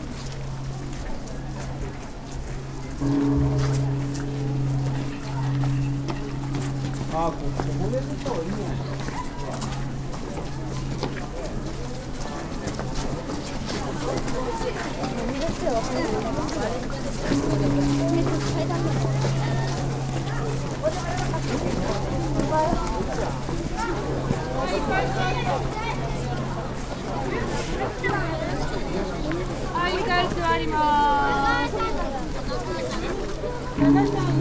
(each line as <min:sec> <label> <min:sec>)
0:00.1 temple bell coming closer 0:34.4